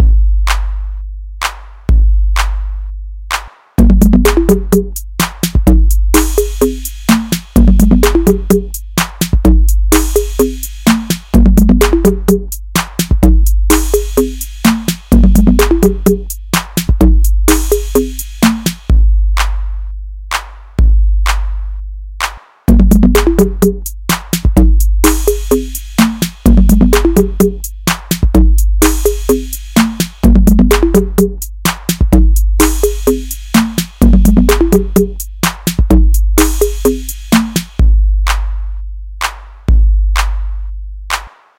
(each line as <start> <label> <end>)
0.0 TR-808 beat 41.5